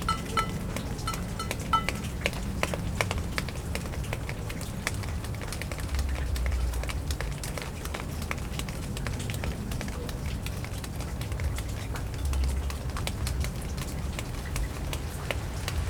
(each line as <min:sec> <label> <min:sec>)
0:00.0 water also hits a metal container 0:06.6
0:00.0 dripping into a large puddle near a rain gutter 0:15.8
0:00.0 water dripping from the roof of the apartment 0:15.8